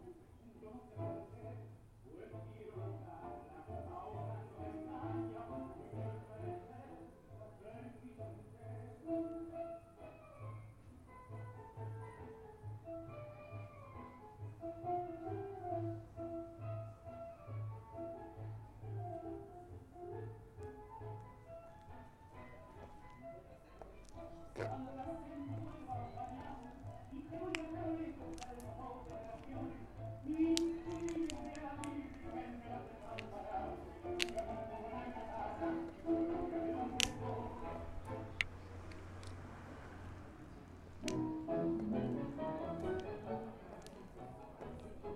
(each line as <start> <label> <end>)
0.0 tango 45.1